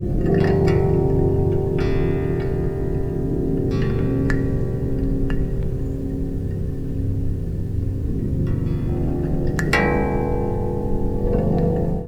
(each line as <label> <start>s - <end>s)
rain hitting the strings 0.0s - 12.0s